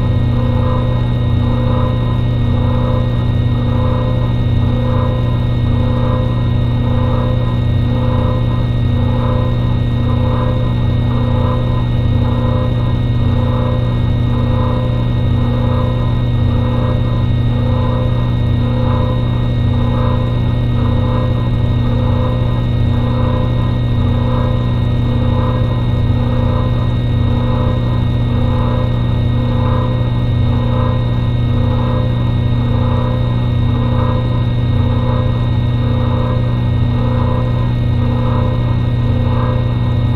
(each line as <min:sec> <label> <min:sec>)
0:00.0 Tri-Scroll vacuum pump 0:40.1